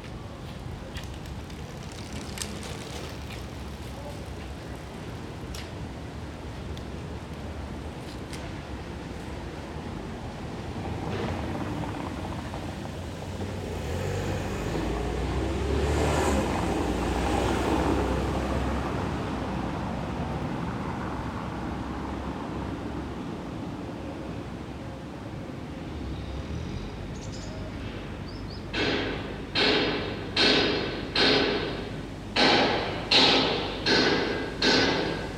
passers-by 0:00.0 - 0:35.3
clanking noises from the scrapyard 0:27.4 - 0:35.3

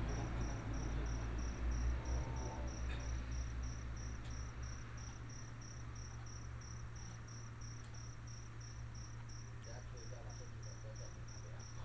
traffic sound 0:00.0 - 0:05.0
heavy motorcycle enthusiasts gather here to chat 0:09.6 - 0:11.8

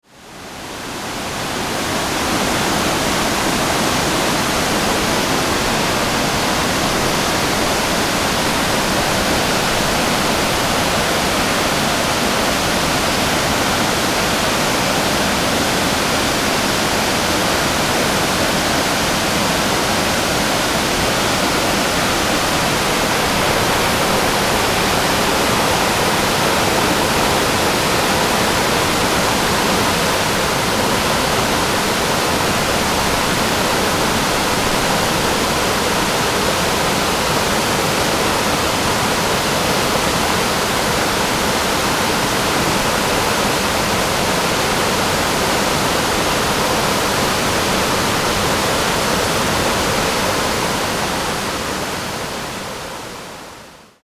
Waterfall 0:00.0 - 0:54.0

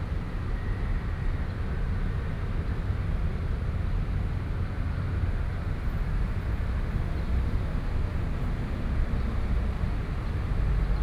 Traffic Noise 0:05.7 - 0:11.0

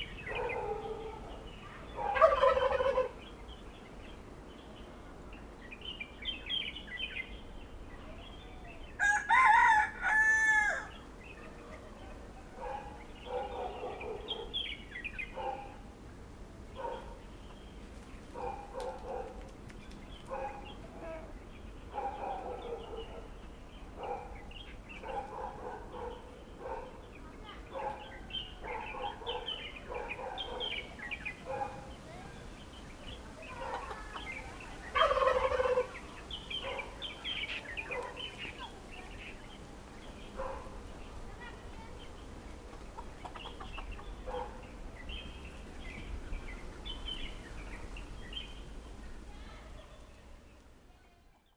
Birds singing 0:00.0 - 0:15.8
Chicken sounds 0:00.4 - 0:03.3
Turkey calls 0:02.0 - 0:03.2
Birds singing 0:16.8 - 0:48.8
Chicken sounds 0:33.4 - 0:38.7
Turkey calls 0:33.5 - 0:38.2
Chicken sounds 0:42.0 - 0:45.5

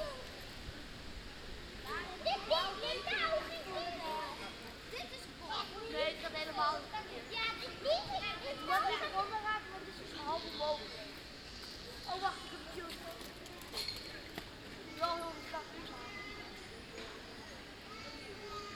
leaves of the plane trees 0:00.0 - 0:18.7
Kids playing 0:01.8 - 0:18.7

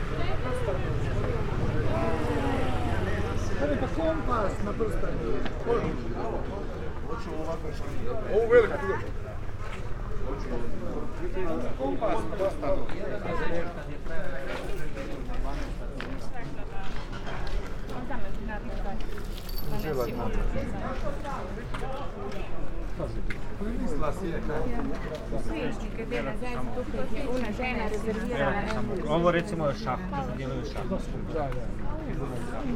cars 0:00.0 - 0:12.8
voices - small talks 0:00.0 - 0:32.7

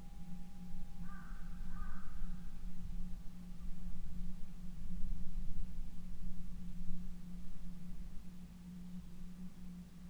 Wind bells 0:00.0 - 0:03.3

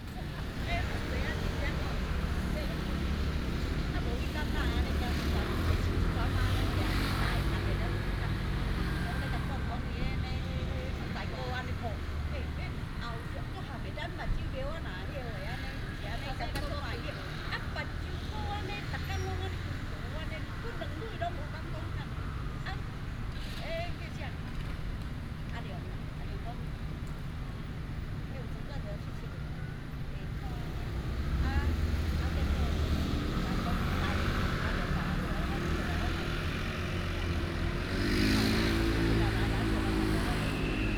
Traffic sound 0:00.0 - 0:40.9
group of older people chatting 0:00.0 - 0:40.9

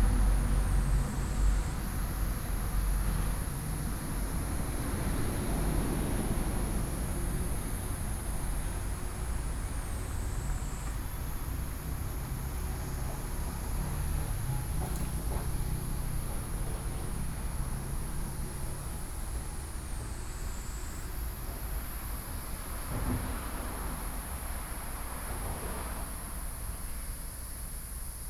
Traffic Sound 0:00.0 - 0:26.7

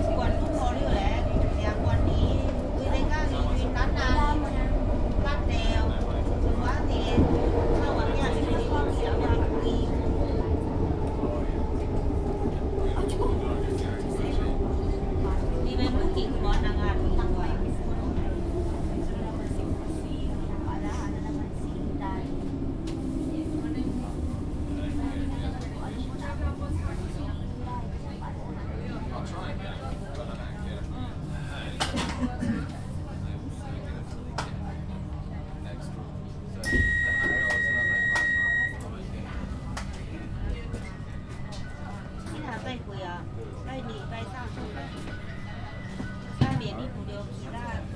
train 0:00.0 - 0:47.9

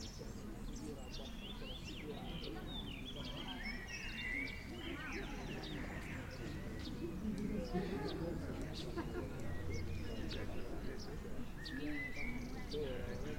birds 0:00.0 - 0:13.3
people speaking 0:00.0 - 0:13.3

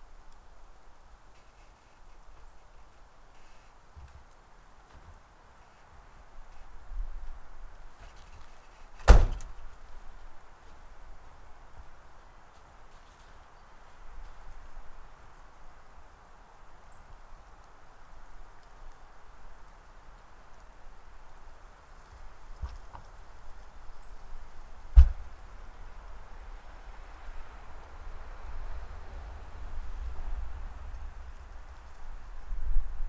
birds 0:01.3 - 0:06.7
moving supplies between two vehicles 0:07.9 - 0:14.4
birds 0:08.0 - 0:25.8
Snowflakes 0:09.6 - 0:33.0

